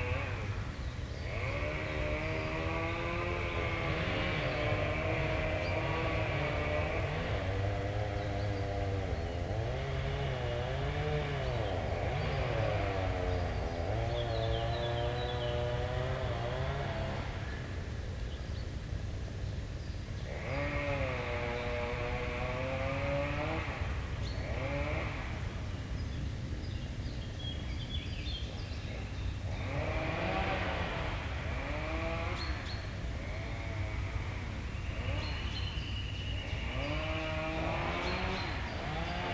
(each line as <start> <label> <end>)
0.0 Chainsaws 39.3
11.3 green woodpecker 16.3
19.8 green woodpecker 39.3